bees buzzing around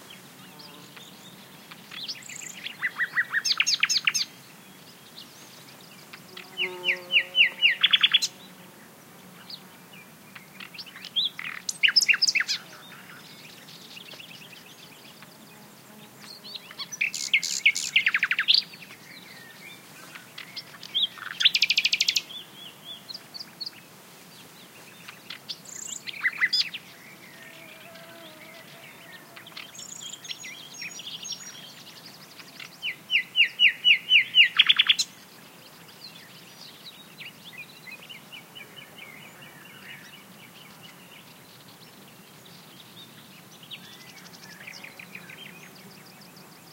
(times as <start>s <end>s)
0.0s 1.5s, 6.2s 10.9s, 11.6s 17.9s, 26.9s 29.9s